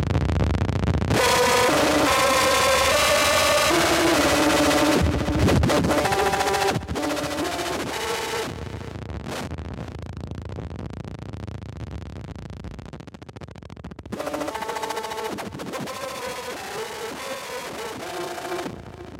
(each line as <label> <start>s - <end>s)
music dying 1.1s - 8.8s